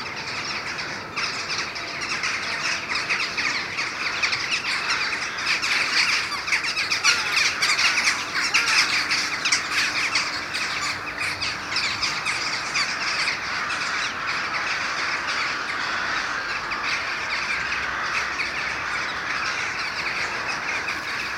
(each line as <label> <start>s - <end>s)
Crows and jackdaws war 0.0s - 21.3s